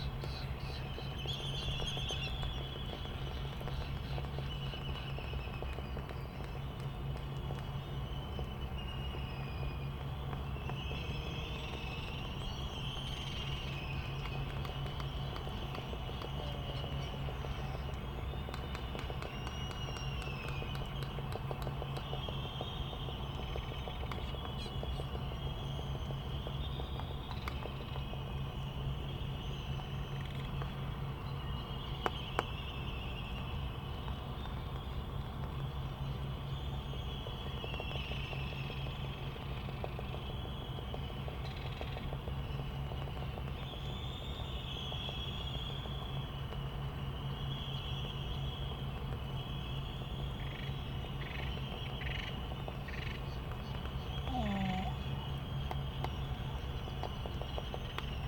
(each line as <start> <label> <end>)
49.3 white terns 58.2
54.1 Laysan albatross 55.2